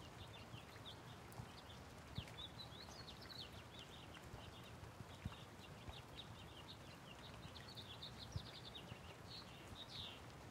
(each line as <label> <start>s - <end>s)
Birds in the background 0.0s - 10.5s
Light Rain 0.0s - 10.5s